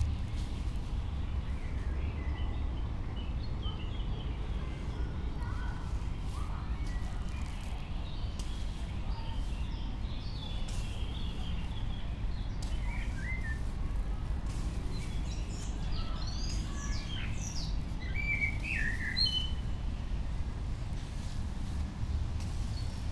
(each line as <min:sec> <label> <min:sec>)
0:04.6 slowly walking the dunes 0:23.1